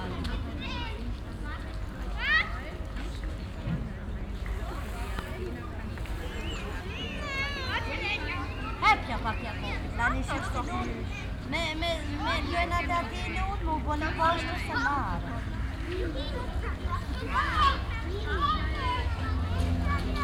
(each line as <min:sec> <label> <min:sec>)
0:00.0 voices of playing childrens 0:20.2
0:06.4 talking mothers 0:20.2
0:19.0 plane is crossing the sky 0:20.2